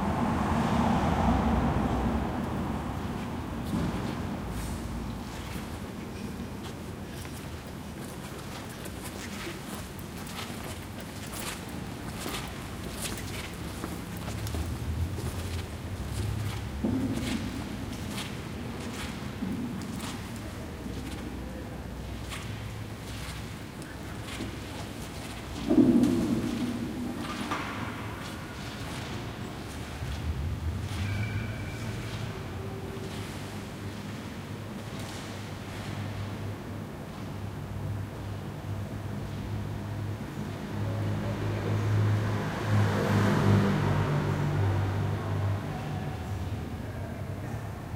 car or motorbike outside 0:00.0 - 0:05.5
people walking through 0:02.3 - 0:42.6
car or motorbike outside 0:39.2 - 0:46.8

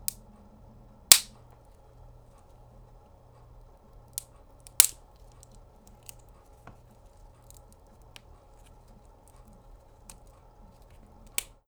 branch snapping and crackling 0:01.1 - 0:01.4
branch snapping and crackling 0:04.2 - 0:06.3
branch snapping and crackling 0:10.0 - 0:11.6

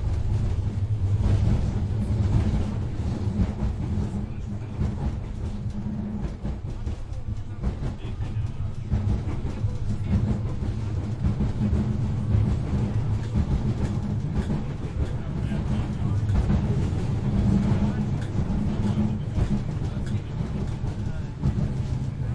traveling inside train 0:00.0 - 0:22.3

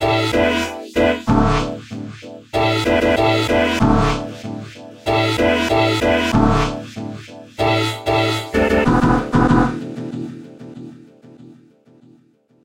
beat 0:02.6 - 0:10.9

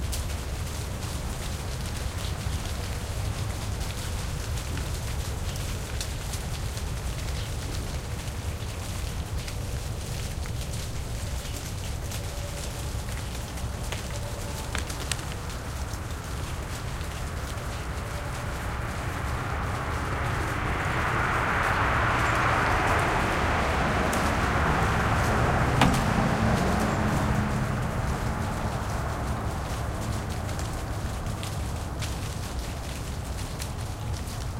green leaves falling off a tree 0:00.0 - 0:34.5
leaves struck the microphone 0:09.1 - 0:32.8
passing cars 0:14.6 - 0:32.5

